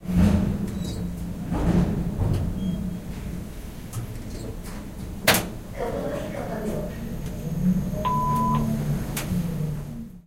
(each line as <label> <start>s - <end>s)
lift moving between floors 5.8s - 10.2s